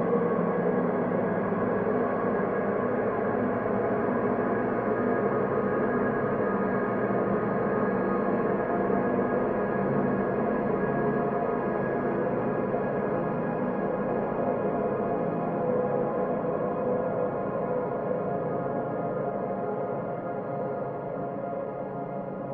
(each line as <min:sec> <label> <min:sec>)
0:00.0 slowly evolving ambient drone pad 0:22.5